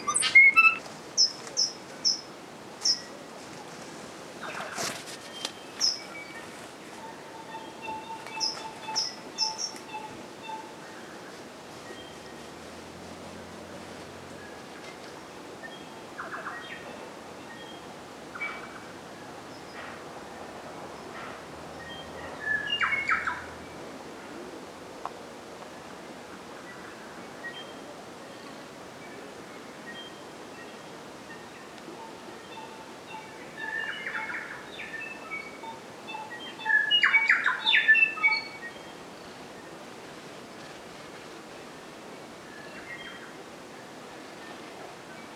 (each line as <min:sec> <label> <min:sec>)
0:00.0 birds 0:12.6
0:21.0 birds 0:24.5
0:26.6 birds 0:41.3